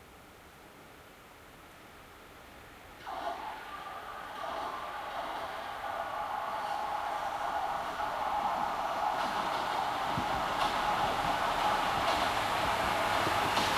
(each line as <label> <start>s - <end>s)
Subway arriving and leaving 2.9s - 13.7s